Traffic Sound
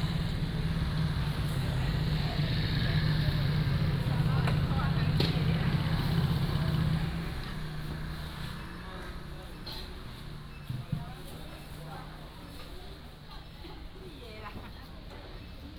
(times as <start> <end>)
0.0 10.5